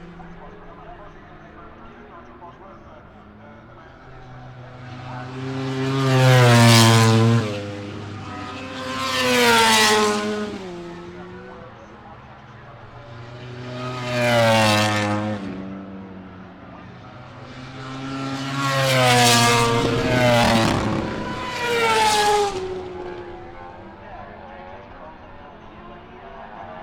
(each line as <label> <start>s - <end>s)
Motorcycle Grand Prix 0.0s - 26.8s